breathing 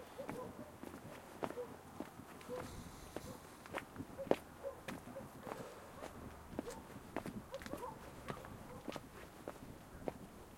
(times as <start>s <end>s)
2.6s 3.6s, 5.5s 6.0s